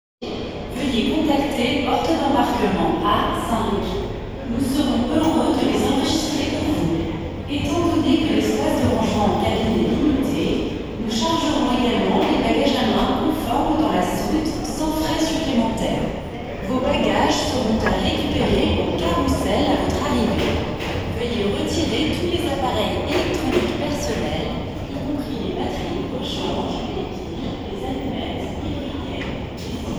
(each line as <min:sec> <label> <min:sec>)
0:00.2 overhead announcements echo softly against the concourse 0:29.9
0:15.8 airplane 0:24.9